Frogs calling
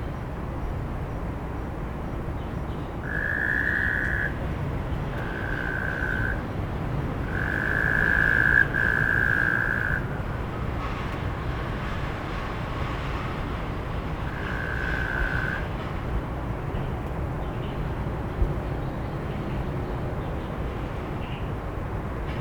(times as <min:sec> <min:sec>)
0:03.0 0:04.4, 0:05.0 0:06.5, 0:07.2 0:10.2, 0:14.3 0:15.7